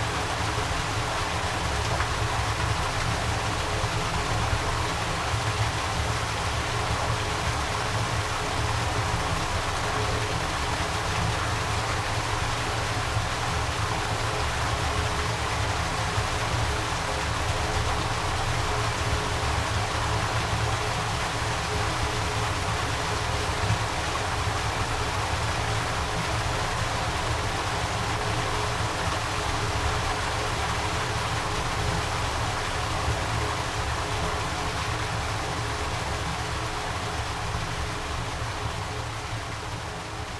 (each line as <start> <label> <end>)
0.0 Small dam at a pond 40.3